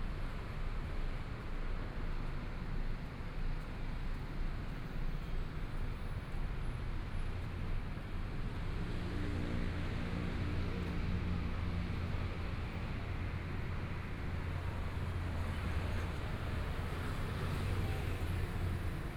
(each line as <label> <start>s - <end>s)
Traffic Sound 8.5s - 19.1s